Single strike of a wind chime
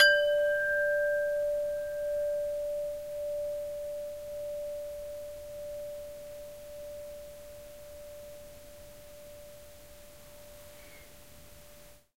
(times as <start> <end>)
0.0 5.2